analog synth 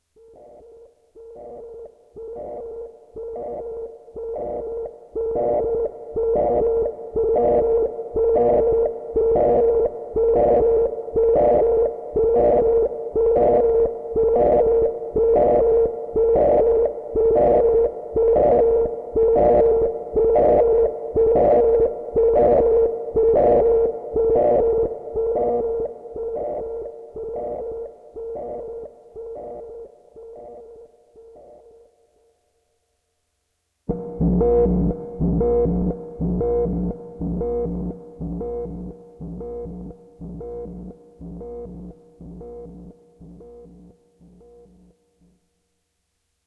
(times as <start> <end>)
33.9 45.0